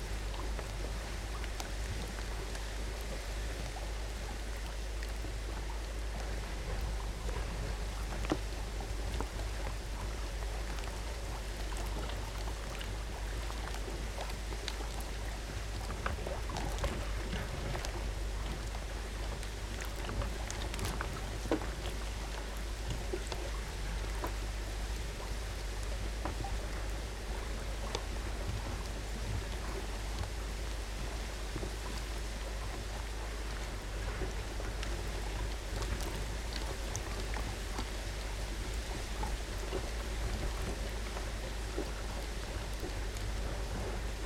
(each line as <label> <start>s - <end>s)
beach structure balacing on water 0.0s - 44.2s
waves 0.0s - 44.2s